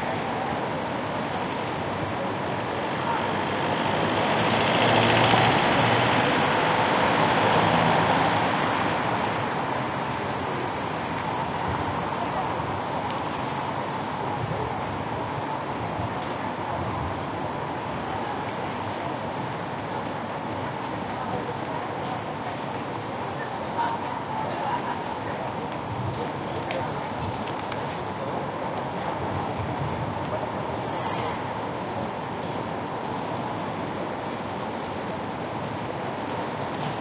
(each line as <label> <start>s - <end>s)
wind 0.0s - 37.0s
cars 0.2s - 14.2s
People 20.5s - 33.2s